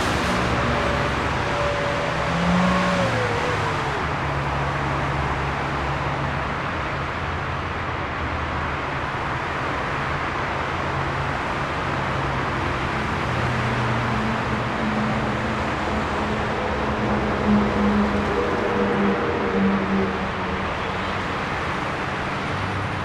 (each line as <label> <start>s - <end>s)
Traffic 0.0s - 23.0s